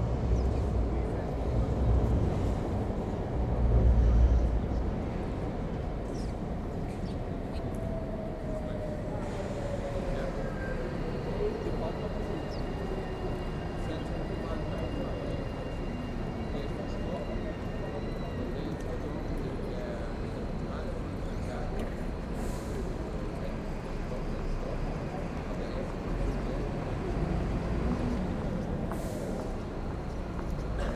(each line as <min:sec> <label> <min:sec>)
0:00.0 bus and tram engines and wheels 0:30.9
0:00.6 Scattered conversations 0:30.9
0:06.0 subtle birds 0:08.0
0:12.0 subtle birds 0:13.7